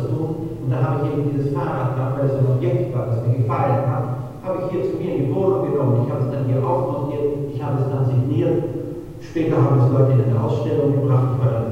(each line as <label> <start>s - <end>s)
video showing a podium discussion 0.0s - 11.7s